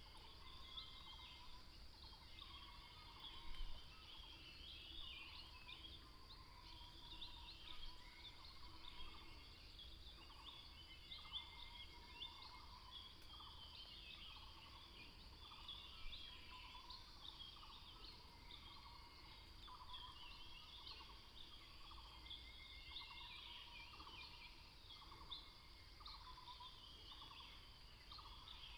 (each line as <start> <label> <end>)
0.0 Bird sounds 28.7